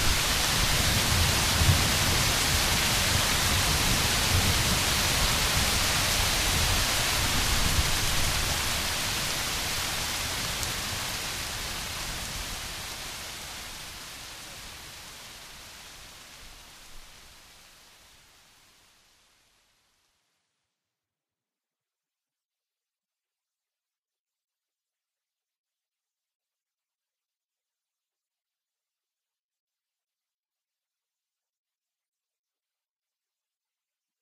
0.0s rain 20.6s

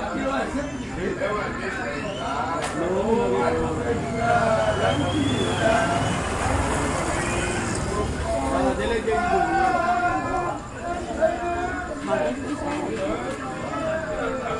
0.0s Men on the street talking / singing 14.5s
0.0s locals talking 14.5s
2.6s vehicle noise 11.8s

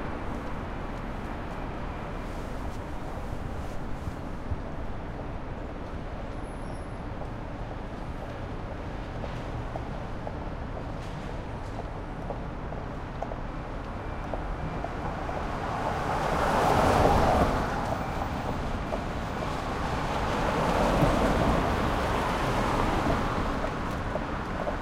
0.0s Traffic 24.8s

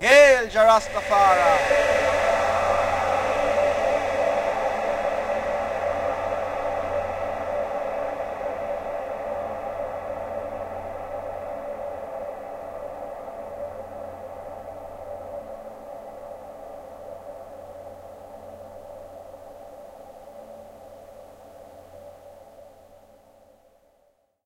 0.0s A Cappella Chant with echo/delay 15.2s

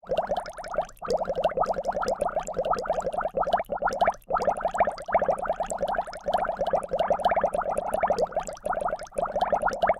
0.0s Bubbles piped through HourGlass 9.9s

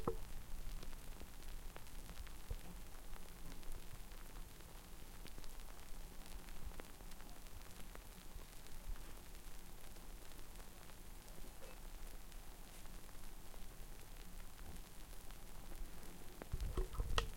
0.0s subtle crackling sound beer foam makes 17.3s

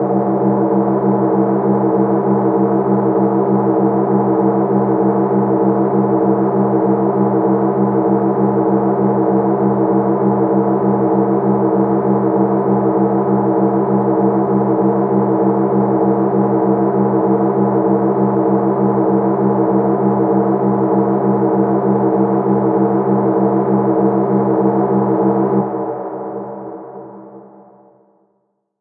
0.0s drone 28.1s

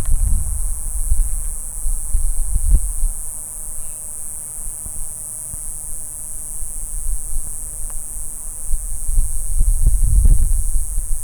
0.0s Cicada buzz 11.2s

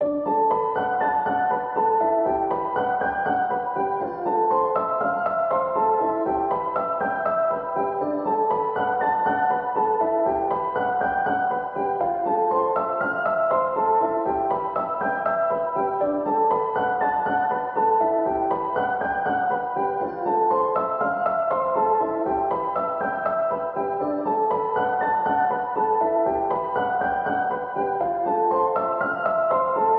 0.0s piano 29.9s

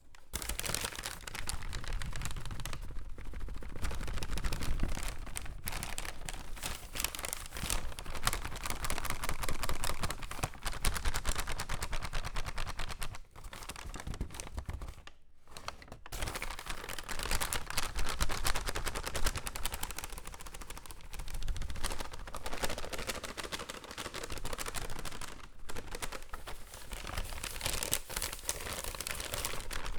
0.4s paper fluttering 8.9s
16.2s paper fluttering 29.9s

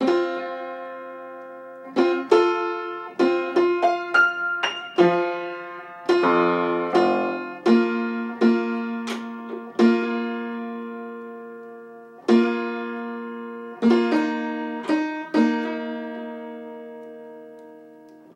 0.0s Piano tuning 18.3s

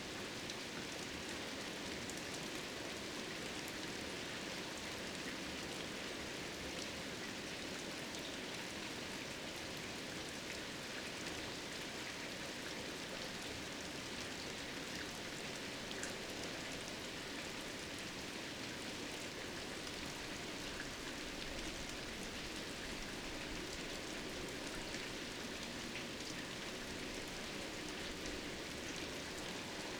0.0s medium rain 29.9s

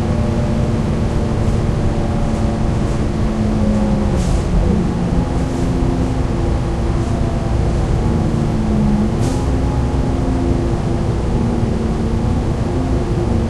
0.0s engine 13.4s

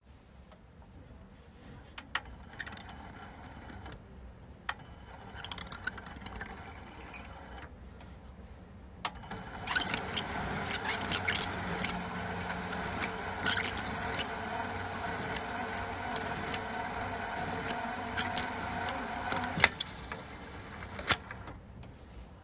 2.2s plastic microfilm scanner being loaded with microfilm, cranked 4.0s
4.8s plastic microfilm scanner being loaded with microfilm, cranked 7.7s
9.1s plastic microfilm scanner being loaded with microfilm, cranked 21.6s

